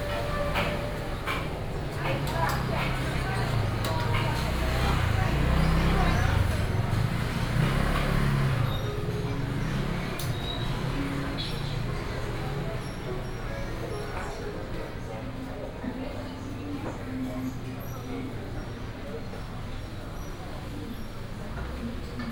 Traffic sound 0:00.0 - 0:16.0
Walking in the very old market 0:00.0 - 0:22.3
Traffic sound 0:16.8 - 0:22.3

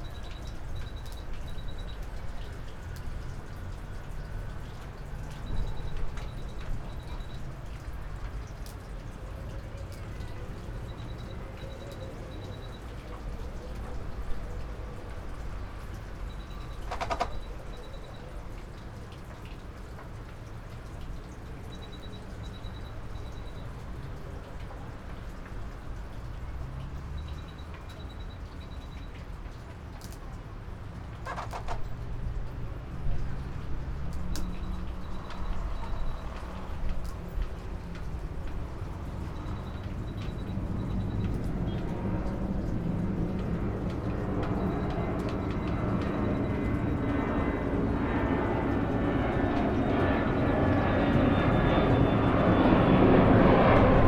roar form the nearby airport 0:46.6 - 0:54.0

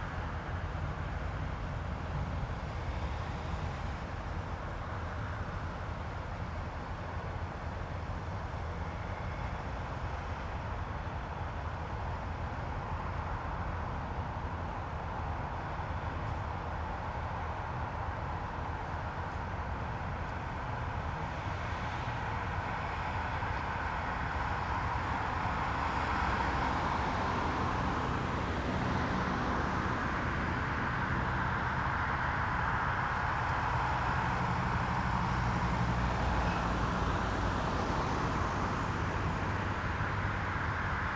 traffic 0:00.0 - 0:41.1

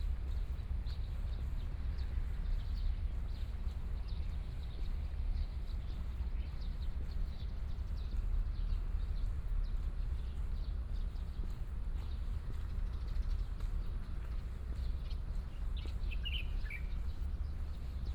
Walking through the park and parking 0:00.0 - 0:18.1

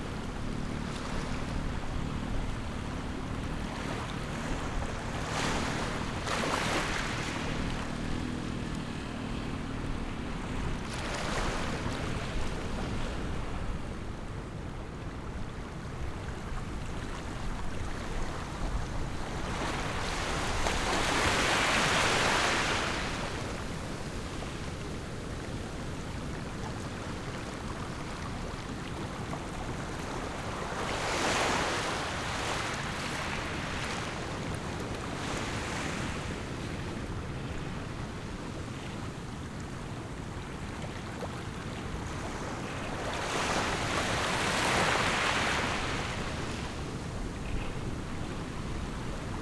waves 0:00.0 - 0:49.4

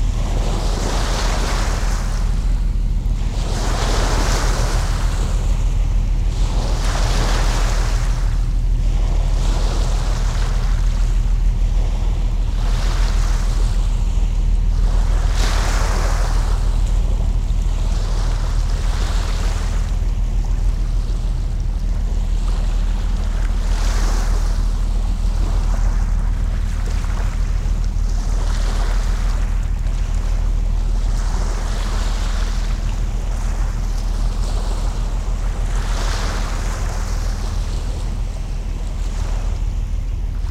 waves 0:00.0 - 0:40.5

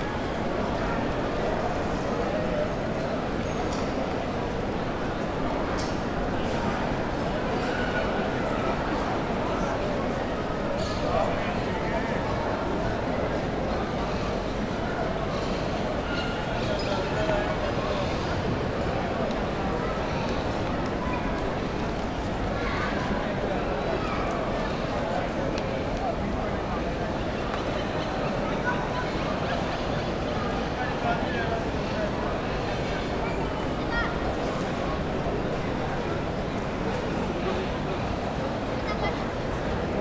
CROWD WALLA Large Place 0:00.0 - 0:40.0

